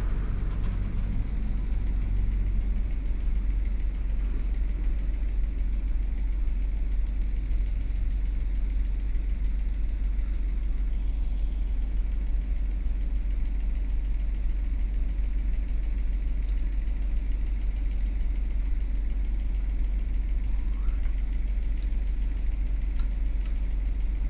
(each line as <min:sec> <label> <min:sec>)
0:00.0 Traffic Sound 0:03.1
0:00.0 Sound of Factory 0:05.1